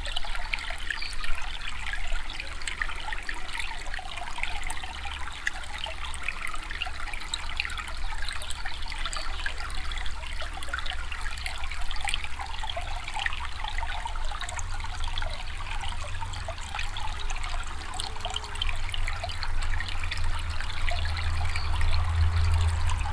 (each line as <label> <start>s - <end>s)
small stream 0.0s - 23.1s
passing traffic 20.0s - 23.1s